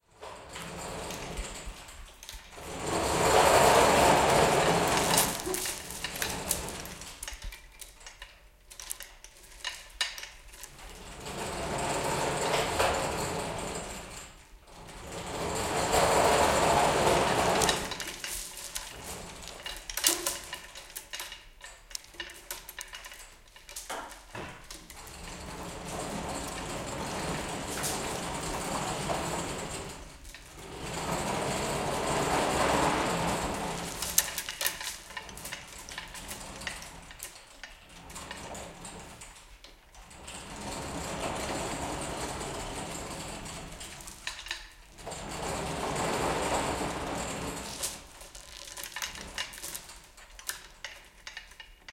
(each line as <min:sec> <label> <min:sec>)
0:00.6 hoist chains thick rattle 0:39.4
0:40.0 hoist chains thick rattle 0:51.8